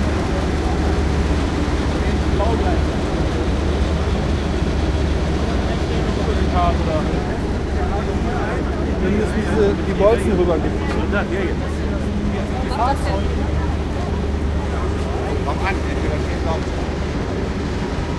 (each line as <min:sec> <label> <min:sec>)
0:00.0 voices 0:18.1